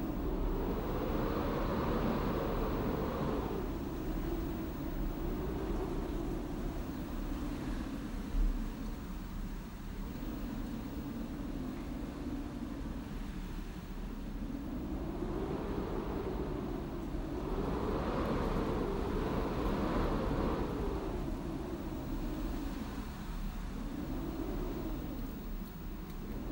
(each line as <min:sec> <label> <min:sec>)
0:00.0 strong wind/draft blowing through the window/door gaps 0:26.5